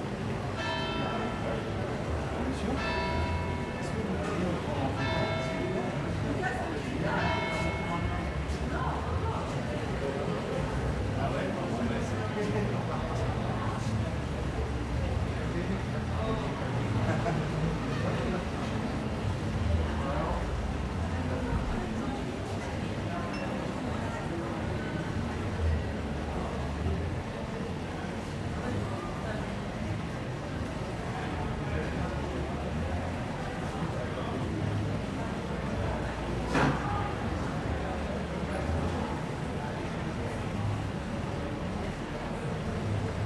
0.0s crowds at other bars 43.2s
0.6s bells 4.1s
4.8s bells 6.2s
7.2s bells 8.5s

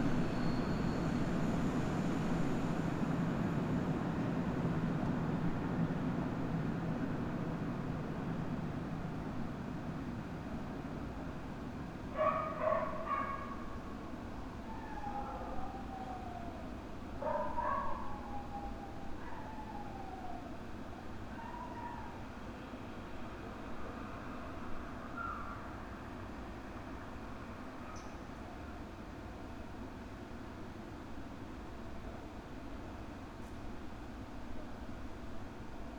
0.0s freight train passes 18.9s

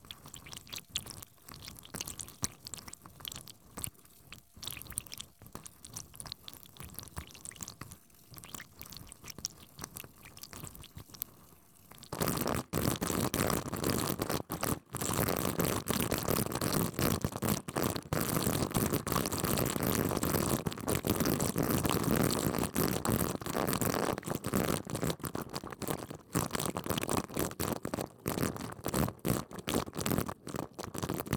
0.0s water trickling down 15.3s

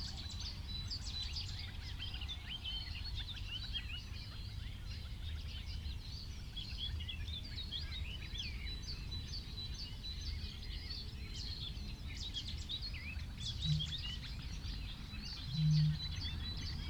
0.0s background noise 16.8s
13.5s reed warbler 14.3s
13.6s cuckoo 14.1s
13.6s wren 14.1s
15.4s cuckoo 16.8s
15.4s wren 16.8s

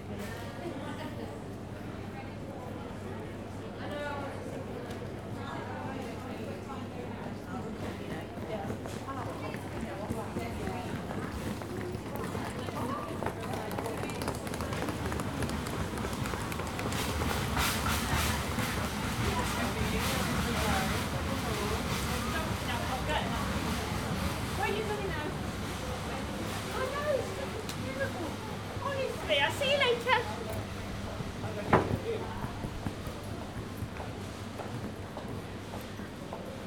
0.0s staff and travellers talking briefly 36.6s
8.4s ticking of luggage wheels across the floor tiles 19.6s
29.9s footsteps 35.3s

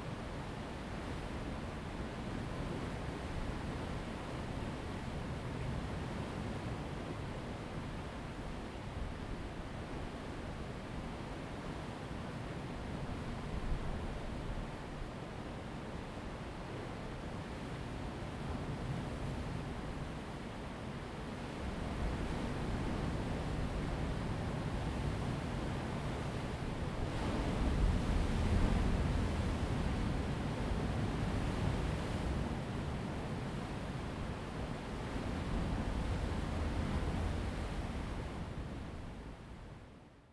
0.0s waves 40.0s
0.0s wind 40.3s

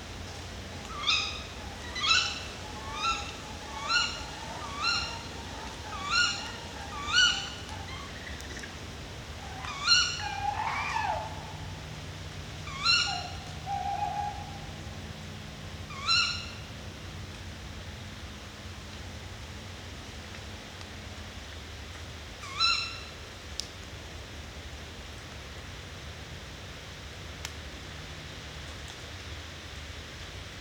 0.0s Owl-couple in the woods 16.8s
22.4s Owl-couple in the woods 23.2s

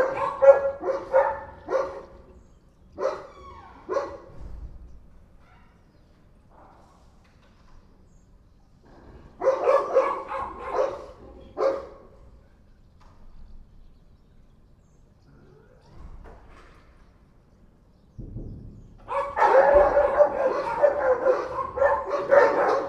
0.0s Dogs barking 4.5s
9.0s Dogs barking 12.4s
19.0s Dogs barking 22.8s

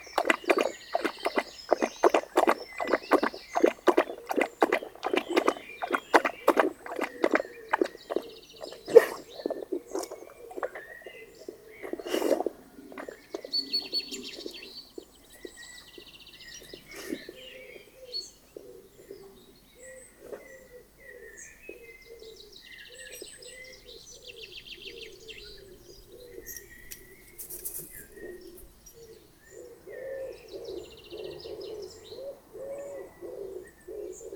0.0s Dog drinking 15.5s
26.4s wings rustling 28.7s

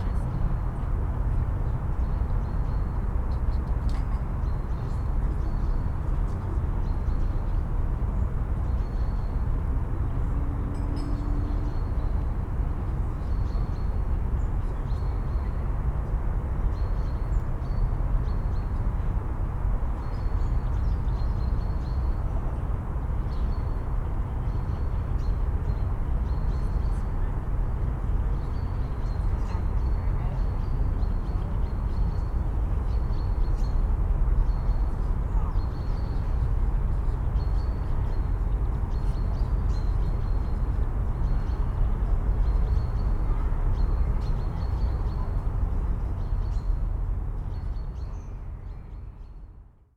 0.0s deep city traffic hum 49.9s

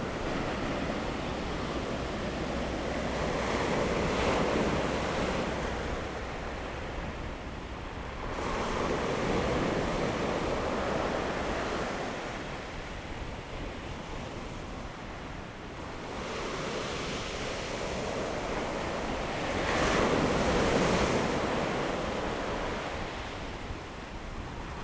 0.0s waves 13.0s
14.0s waves 24.8s

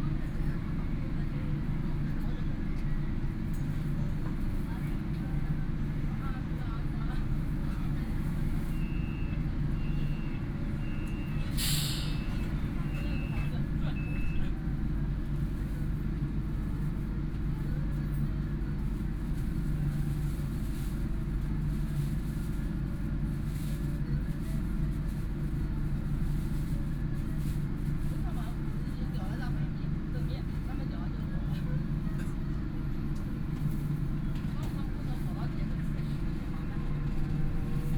0.0s Line 8 (Shanghai Metro) 37.9s

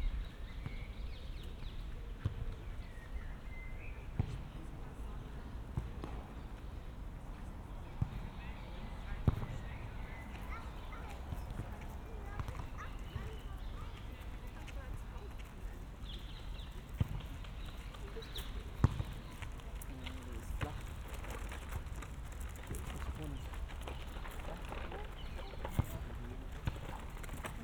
0.0s Wind 27.6s
14.4s Aufwärmen beim Fußball 27.6s

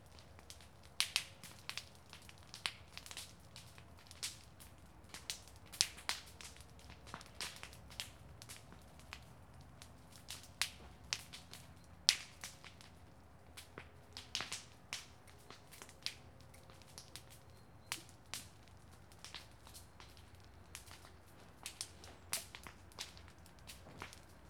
0.0s burning a pile of shriveled leaves and dry sticks 24.4s

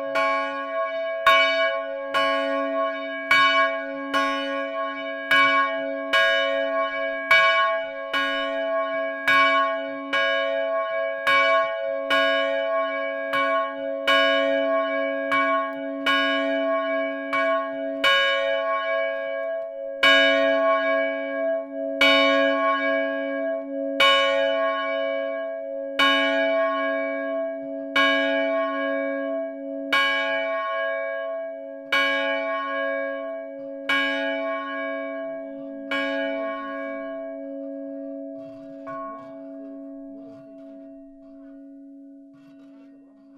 0.0s two bells of the small Villeroux church, ringed manually 43.3s

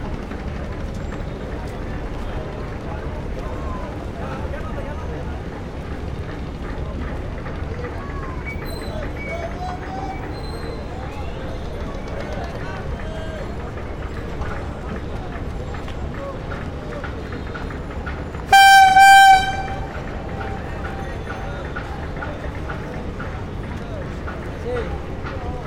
0.0s boats and vessels 25.6s
0.6s people 25.6s

